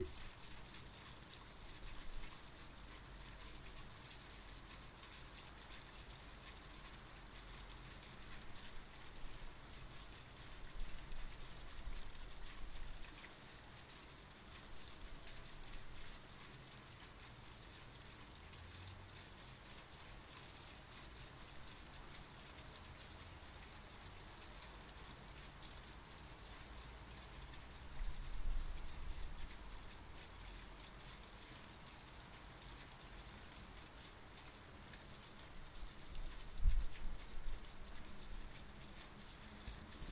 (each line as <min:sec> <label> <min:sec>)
0:00.0 rain falling down and pouring through a drain pipe 0:40.1